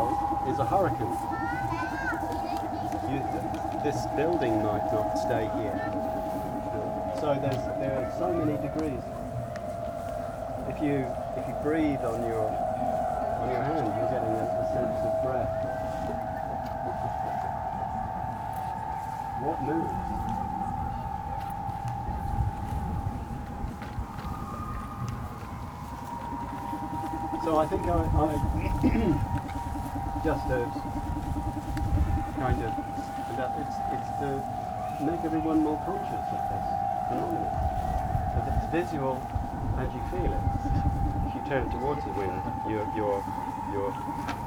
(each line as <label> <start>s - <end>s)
talks about his aeolian harps installation 0.0s - 9.8s
aeolian harps 0.0s - 44.4s
talks about his aeolian harps installation 27.2s - 44.1s